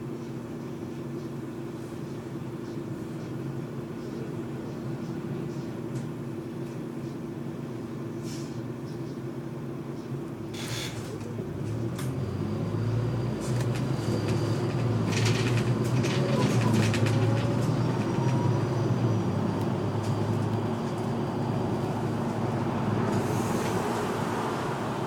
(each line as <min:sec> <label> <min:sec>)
0:00.0 articulated bus 0:25.0